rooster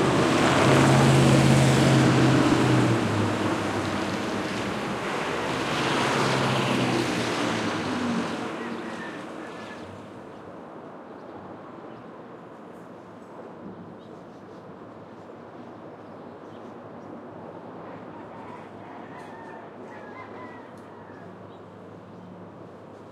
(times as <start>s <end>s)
8.5s 9.9s, 17.8s 21.6s